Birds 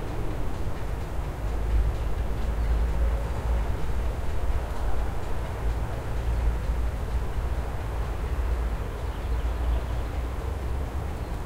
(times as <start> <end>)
9.0 10.2